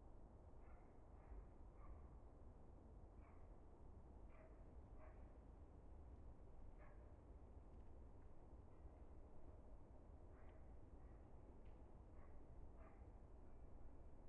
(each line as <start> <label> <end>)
4.3 dog 5.4